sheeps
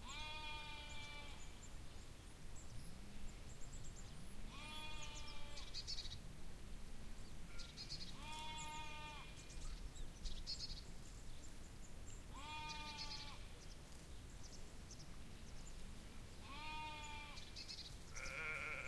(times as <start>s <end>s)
0.0s 1.6s, 4.5s 5.8s, 7.5s 9.4s, 12.2s 14.2s, 16.4s 18.8s